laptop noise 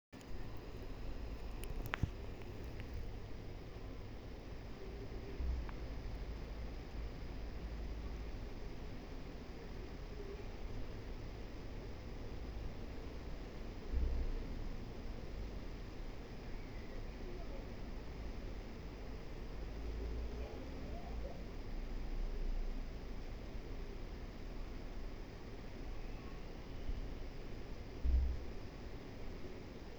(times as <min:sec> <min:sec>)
0:00.2 0:03.1